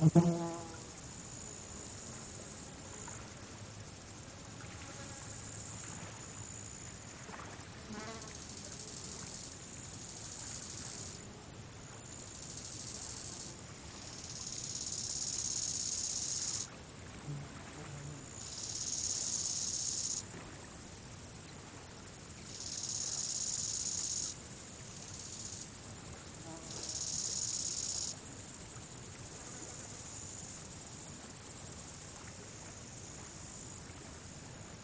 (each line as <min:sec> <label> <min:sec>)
0:00.0 insect life 0:34.8